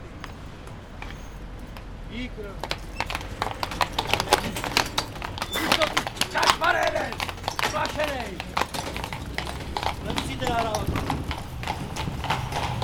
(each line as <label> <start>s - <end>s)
Horses inside tunnel 0.0s - 12.8s
passing cars 0.0s - 12.8s
train was just passing 3.6s - 12.8s